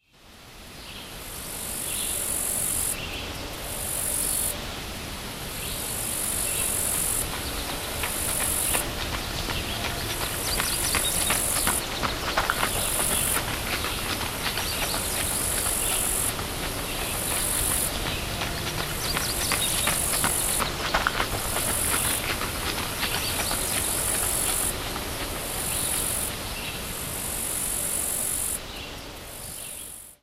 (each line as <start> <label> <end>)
0.0 crickets 30.2
5.6 birds 26.9
6.2 Joggers running on a gravel trail 26.7